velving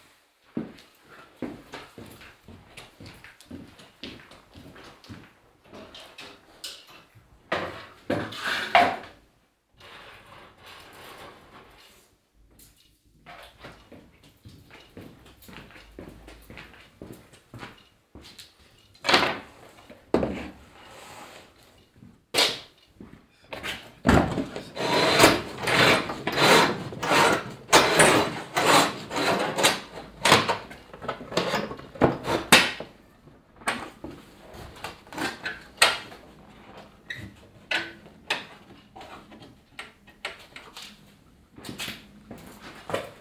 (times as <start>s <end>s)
24.1s 30.6s